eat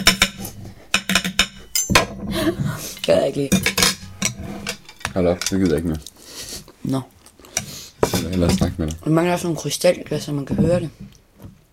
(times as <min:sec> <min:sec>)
0:05.5 0:08.1